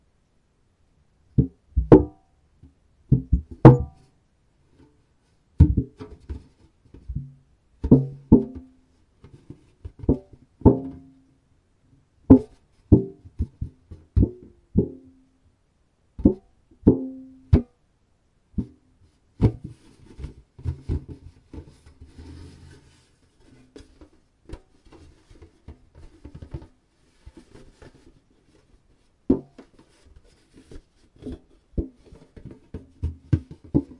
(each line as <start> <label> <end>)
3.1 big metal tin being handled and pressed 4.1
5.6 big metal tin being handled and pressed 11.2
12.3 big metal tin being handled and pressed 15.2
19.4 big metal tin being handled and pressed 28.7
29.3 big metal tin being handled and pressed 33.9